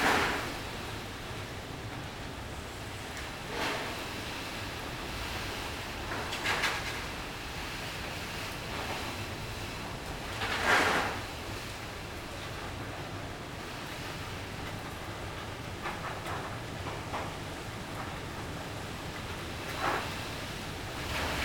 0.0s Wind bending the sheets and roofing 21.4s

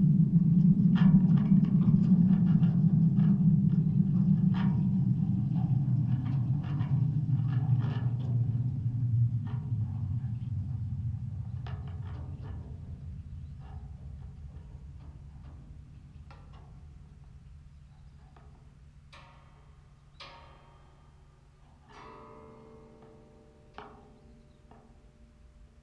0.0s wind on a wire fence 25.8s

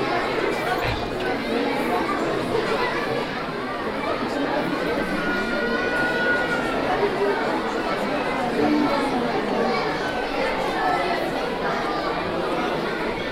0.0s children 13.3s
0.0s crowd 13.3s

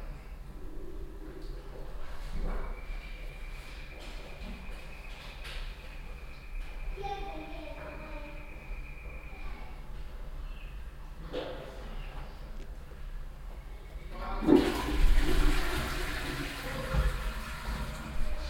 14.4s toilettenklanginstallation 18.4s

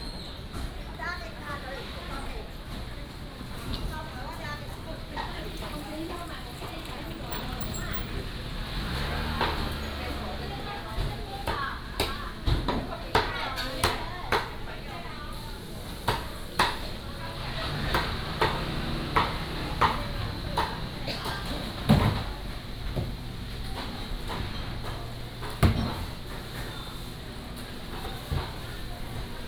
0.0s Walking through the market 29.4s
4.0s Traffic Sound 13.0s
15.9s Traffic Sound 29.4s

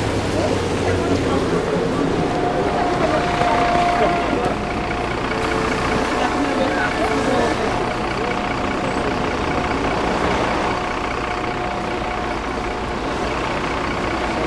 0.3s people are commenting 13.5s

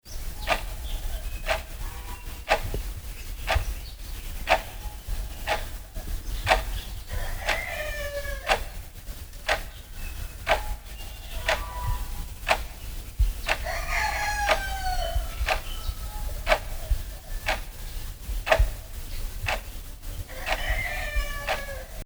0.5s Clock 0.8s
1.4s Clock 2.8s
4.4s Clock 4.8s
5.4s Clock 5.8s
6.4s Clock 7.8s
8.5s Clock 9.8s
10.4s Clock 10.8s
11.4s Clock 11.7s
12.4s Clock 12.8s
14.4s Clock 14.8s
15.4s Clock 15.7s
16.4s Clock 17.7s
18.4s Clock 18.8s
19.4s Clock 19.7s
20.4s Clock 20.7s

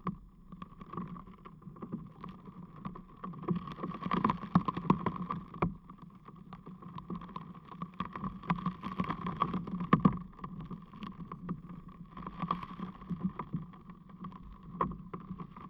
0.1s crackling ice moved by wind and water 15.6s

